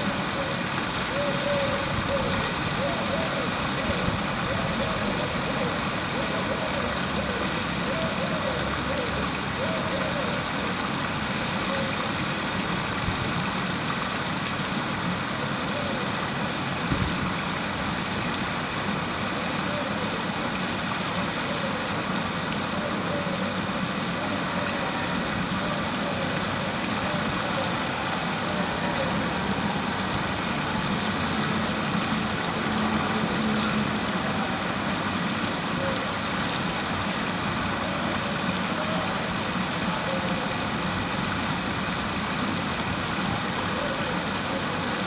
0.0s doves 12.1s

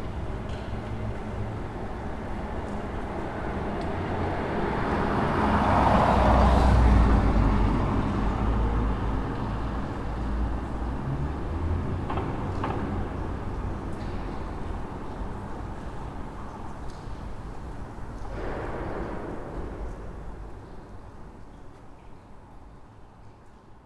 0.0s cars passing by 21.9s
12.5s Water dripping 23.8s

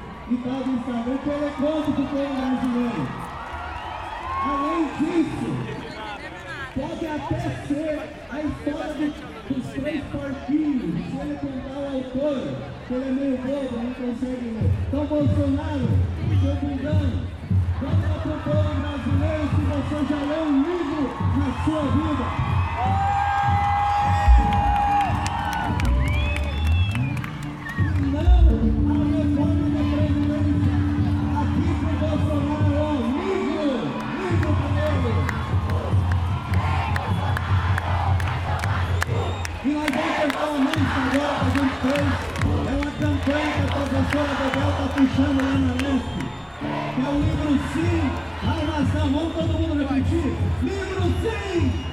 27.9s orator singing 34.2s

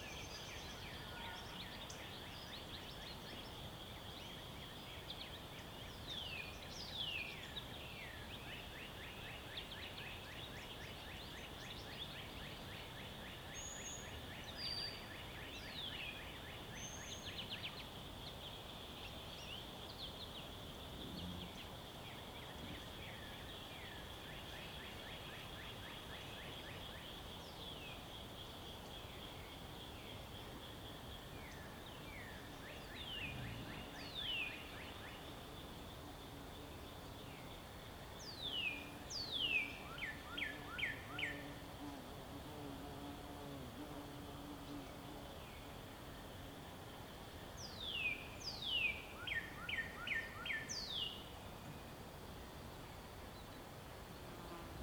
0.0s Birds 41.9s
0.0s light wind in the trees 54.8s

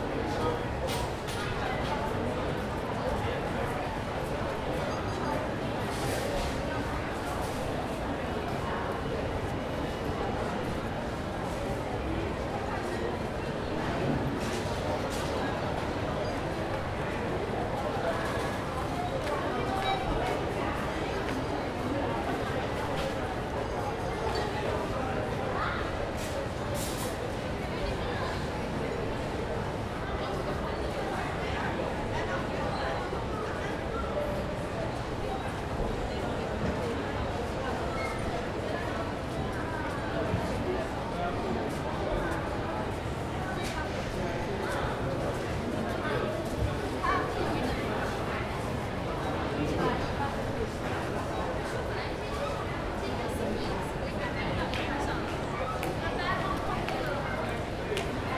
17.6s checkout counter 20.7s

